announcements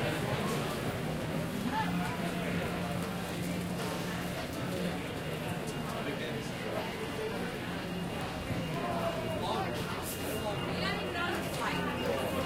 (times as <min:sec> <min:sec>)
0:04.5 0:12.4